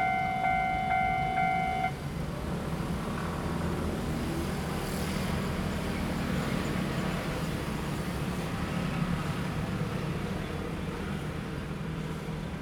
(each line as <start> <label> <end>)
0.0 The train passes by 2.0
0.0 Traffic sound 2.7